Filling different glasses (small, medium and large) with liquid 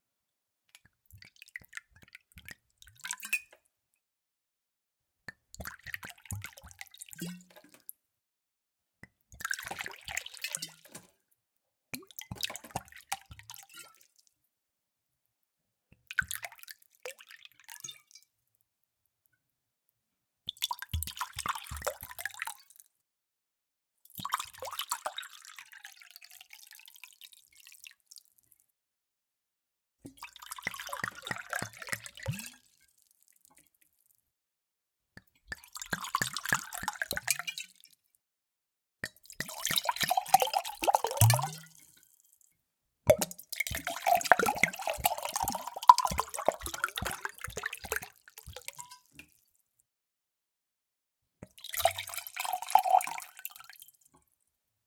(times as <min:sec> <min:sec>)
0:30.2 0:32.5, 0:35.5 0:37.6, 0:39.0 0:42.1, 0:43.1 0:49.3, 0:51.4 0:54.0